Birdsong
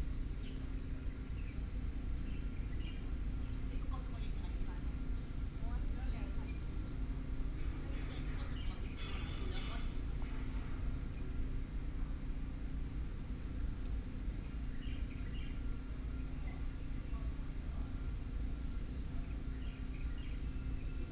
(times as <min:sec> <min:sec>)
0:00.0 0:04.2, 0:14.3 0:17.3, 0:18.0 0:21.1